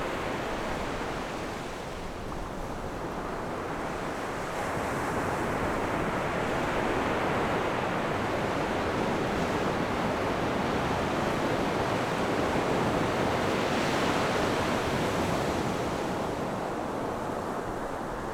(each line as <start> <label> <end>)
0.0 waves 18.3